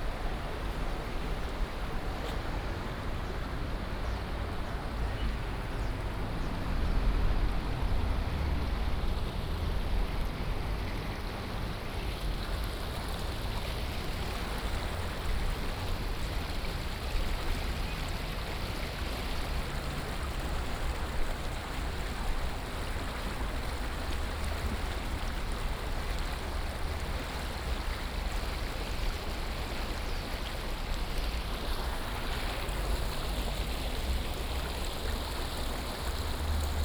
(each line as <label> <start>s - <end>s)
streams sound 0.0s - 36.8s
Traffic Sound 32.5s - 36.8s